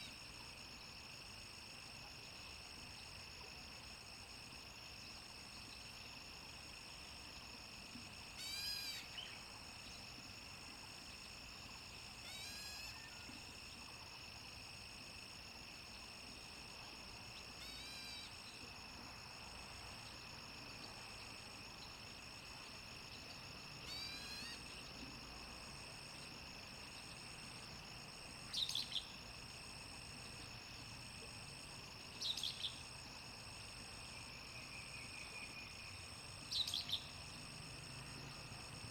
Frogs chirping 0:08.4 - 0:09.4
Frogs chirping 0:12.1 - 0:13.8
Frogs chirping 0:17.4 - 0:18.6
Frogs chirping 0:22.7 - 0:24.9
Frogs chirping 0:34.5 - 0:37.2

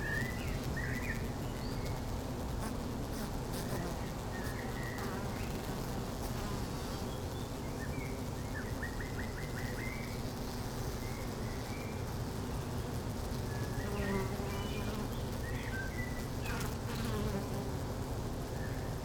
bee hive 0:00.0 - 0:19.0

